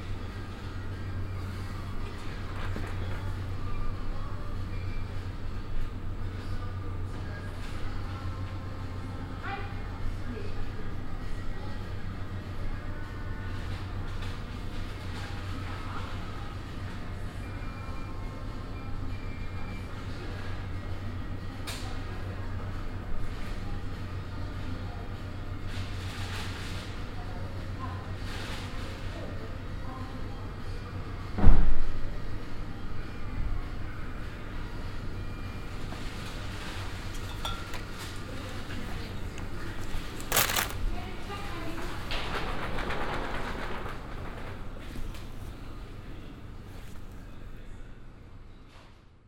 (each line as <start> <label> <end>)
0.0 electric buzz of the ice fridges 49.2
0.0 hum of the ventilation 49.2
39.8 rolling of a plastic shopping cart 40.9
39.9 paper bag 40.8
40.0 background radio music 40.8
40.2 opening and closing of a bread box 40.8
41.9 rolling of a plastic shopping cart 45.3